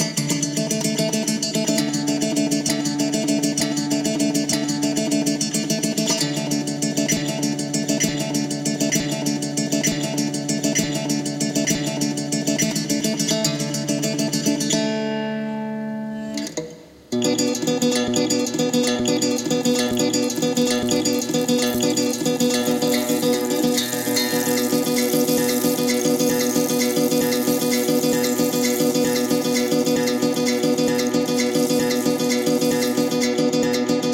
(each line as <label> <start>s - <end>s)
Guitar 0.0s - 34.1s